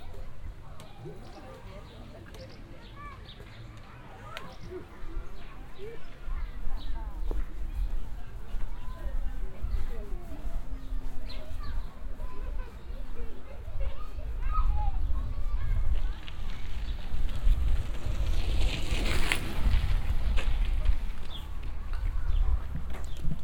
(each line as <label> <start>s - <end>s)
Children and grown ups walking around 0.0s - 23.4s
kids on bicycles passing by 0.0s - 23.4s